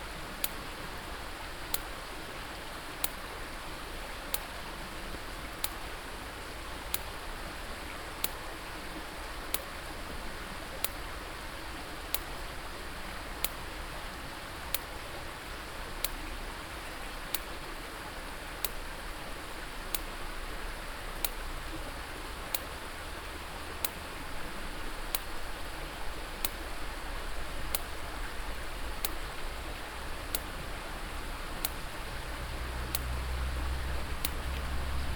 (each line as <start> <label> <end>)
0.0 stream 35.1